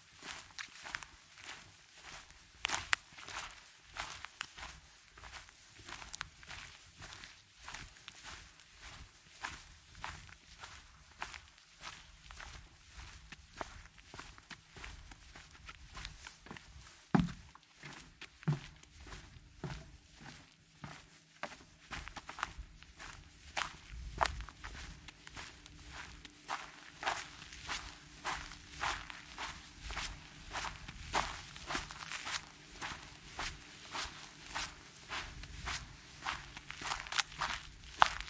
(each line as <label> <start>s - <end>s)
Walk on gravel 0.0s - 38.2s
grass 0.1s - 38.2s
footsteps 8.9s - 38.2s